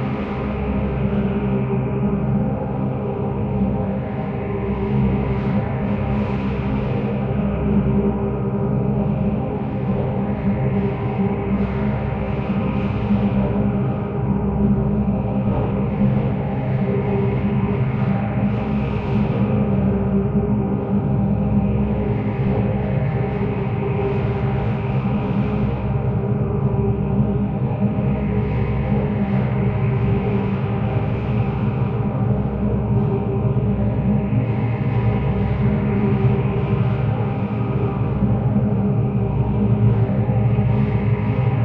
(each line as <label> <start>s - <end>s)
drone like background 0.0s - 41.6s